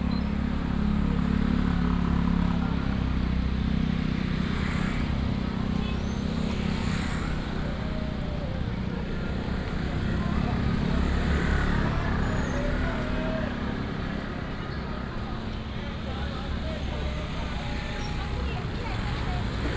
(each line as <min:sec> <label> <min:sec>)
0:00.0 Walking in the market 0:19.7
0:00.0 motorcycle 0:19.7